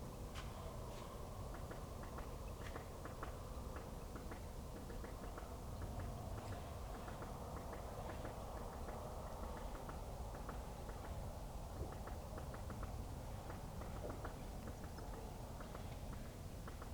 train in the distance 0:00.0 - 0:16.9
woodpecker 0:01.5 - 0:16.9

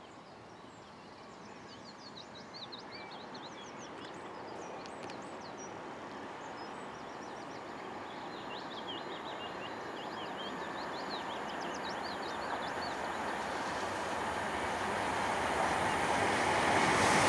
Two carriage diesel train heading down 0:12.4 - 0:17.2

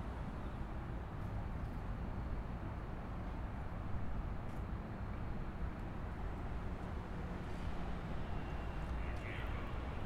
Light Rail 0:00.0 - 0:10.0
local traffic driving over the Light Rail tracks 0:00.0 - 0:10.0

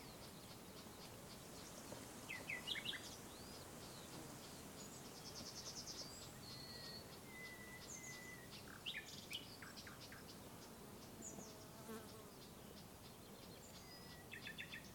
Birds 0:00.0 - 0:14.9
insects 0:00.0 - 0:14.9

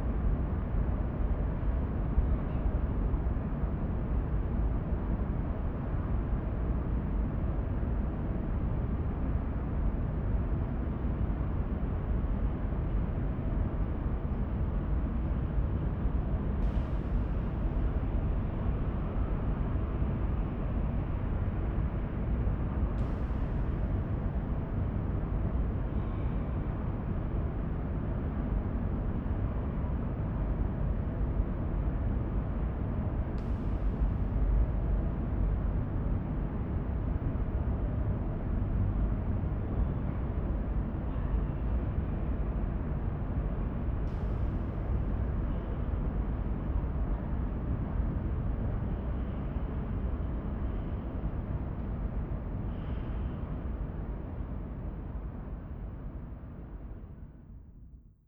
sonorous, constant sound of the room ventilation 0:00.0 - 0:58.2

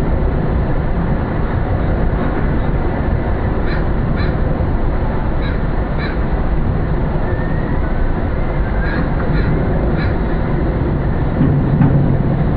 distant water plane 0:00.0 - 0:12.5
traffic passing an resonating in the construction 0:00.0 - 0:12.5
seagulls 0:08.7 - 0:10.2

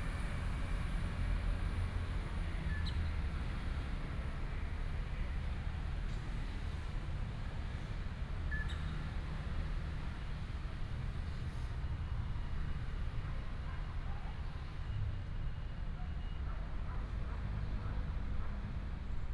Traffic sound 0:00.0 - 0:07.8
The train runs through 0:00.0 - 0:07.9

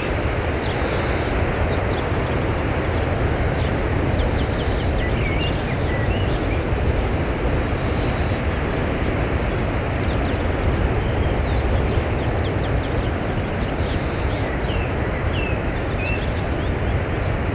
bird songs 0:00.0 - 0:17.5

